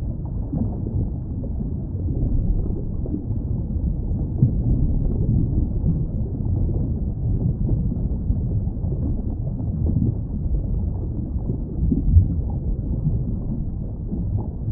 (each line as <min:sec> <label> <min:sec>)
0:00.0 rumble 0:14.7
0:00.0 bubbles 0:14.7